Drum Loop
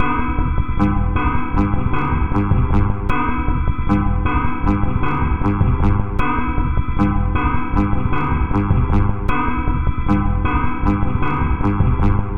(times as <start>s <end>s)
0.8s 3.1s, 3.9s 6.2s, 7.0s 9.3s, 10.1s 12.3s